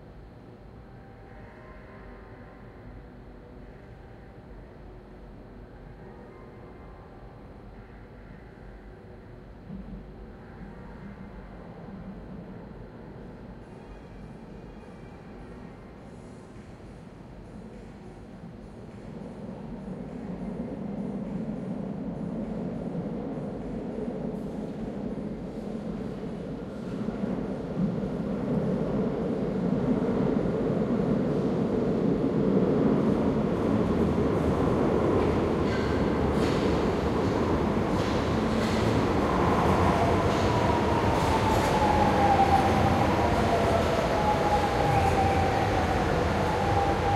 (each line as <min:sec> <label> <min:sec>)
0:00.0 train 0:47.1